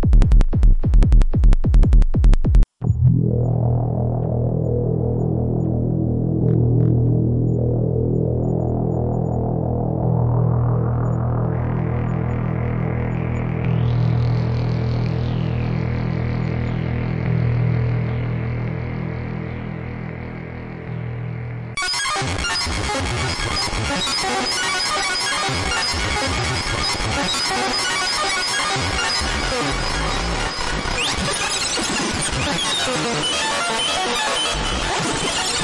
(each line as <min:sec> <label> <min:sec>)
0:00.0 Beats 0:09.7